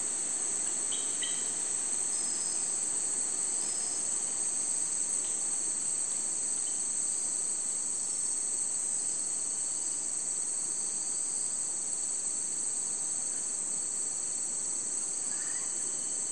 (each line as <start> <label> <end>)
0.0 Rainforest by night 16.3